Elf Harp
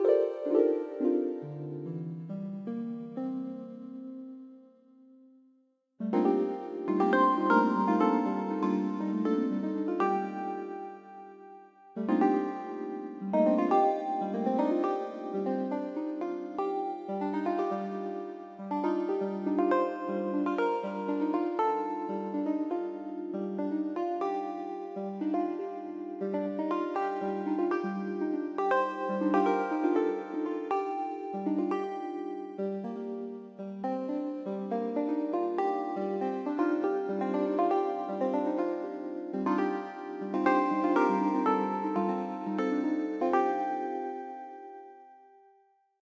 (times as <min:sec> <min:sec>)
0:00.0 0:02.2, 0:24.4 0:32.6, 0:34.9 0:44.2